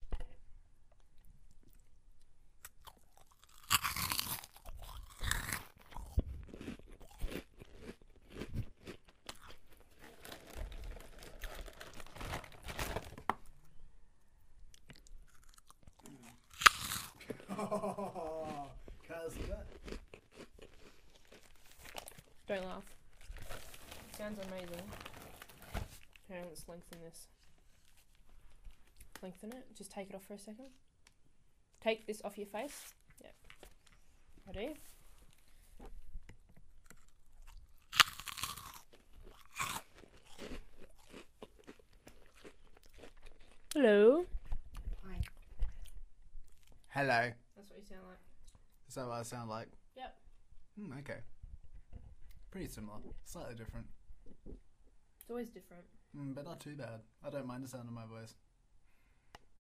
eating chips 0:02.6 - 0:13.2
eating chips 0:14.8 - 0:17.4
eating chips 0:18.2 - 0:26.2
eating chips 0:36.7 - 0:46.9

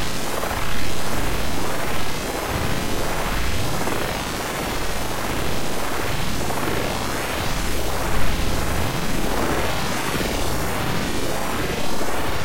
ambient droning noisescape 0:00.0 - 0:12.4

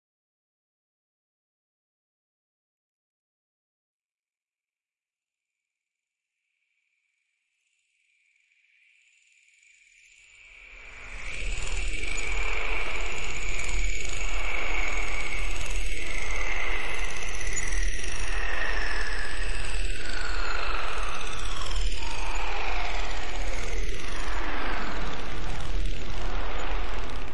Accelerating Pulse C3add9b5 Arppeggio 0:11.0 - 0:27.3

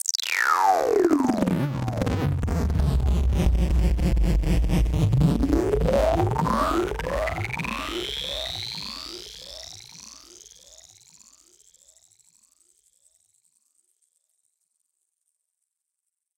synth 0:00.3 - 0:10.4
sweep 0:01.3 - 0:09.8

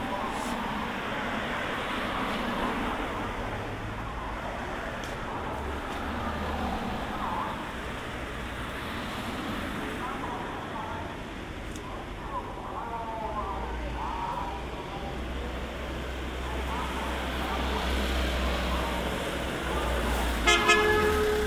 Many cars go by 0:00.0 - 0:21.4
fruit truck with a loudspeaker 0:11.9 - 0:21.4
horns honking 0:20.4 - 0:21.4

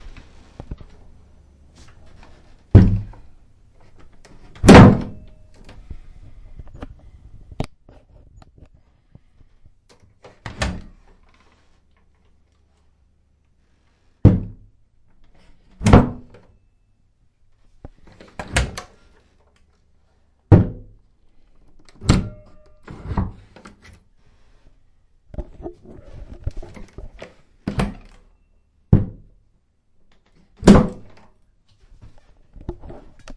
different door closing 0:04.5 - 0:05.4

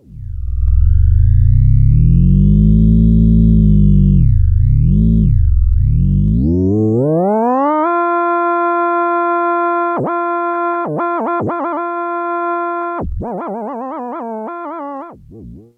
Virtual theremin sounds 0:00.0 - 0:15.7

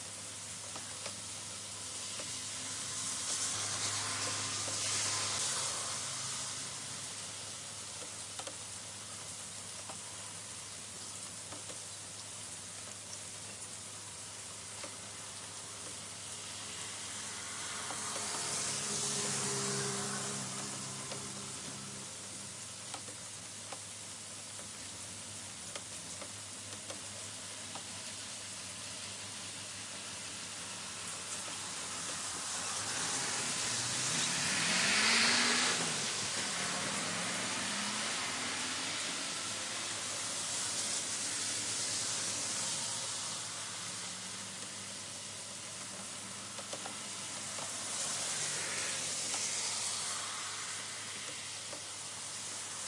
rain drops 0:00.0 - 0:52.8
car 0:00.2 - 0:08.6
car 0:15.8 - 0:23.9
car 0:31.3 - 0:52.8

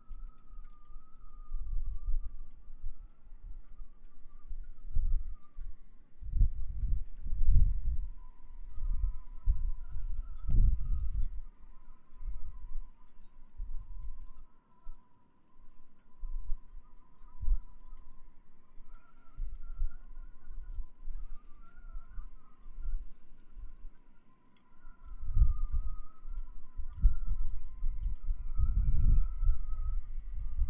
wind in the halyards 0:00.0 - 0:15.0
wind in the halyards 0:15.7 - 0:30.6

